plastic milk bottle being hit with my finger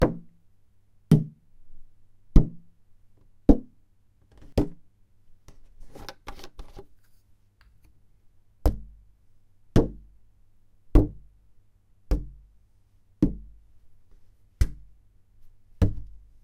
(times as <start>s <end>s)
8.6s 9.0s, 12.1s 12.4s, 13.2s 13.5s, 14.6s 14.9s